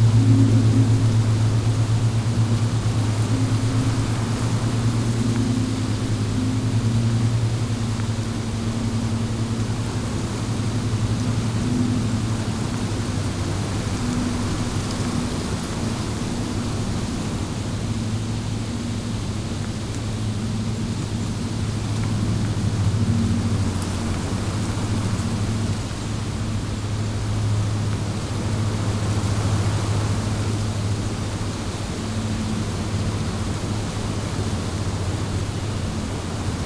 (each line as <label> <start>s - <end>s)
Wind in the trees 0.0s - 36.6s